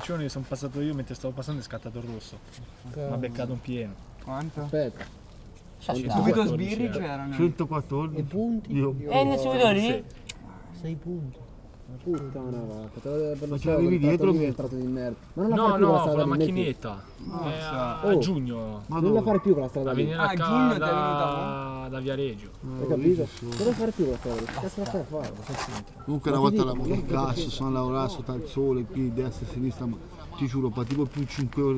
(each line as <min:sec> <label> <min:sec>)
0:23.2 ragazzi 0:31.7